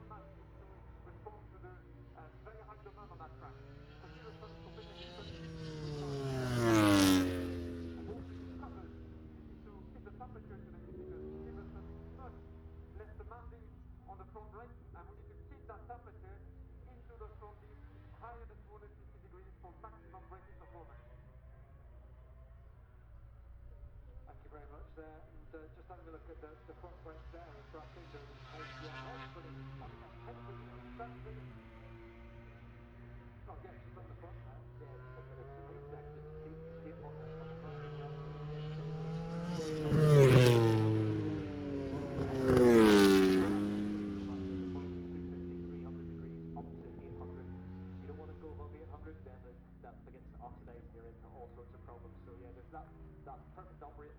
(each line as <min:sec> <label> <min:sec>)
0:00.0 moto grand prix free practice two 0:54.1